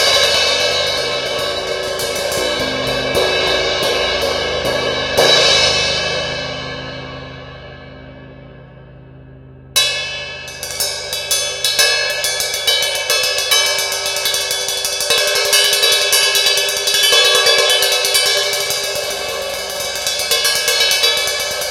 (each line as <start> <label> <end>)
0.0 Ritmo Bounce Ride Medium 18 Inch Cymbal 21.7